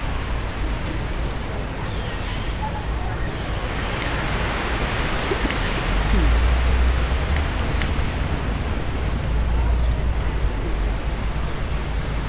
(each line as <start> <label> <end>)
0.0 ocean wave 9.1
0.0 city sound 12.2